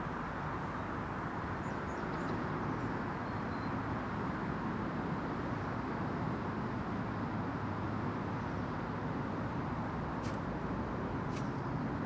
road sounds pass above me 0:00.0 - 0:12.0

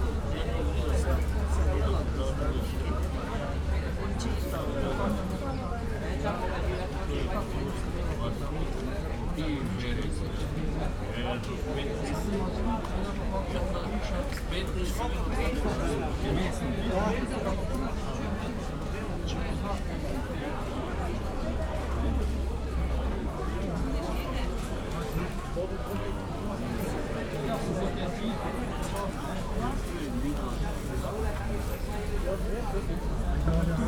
busy market sounds 0:00.0 - 0:33.8
guests talking 0:00.0 - 0:33.8

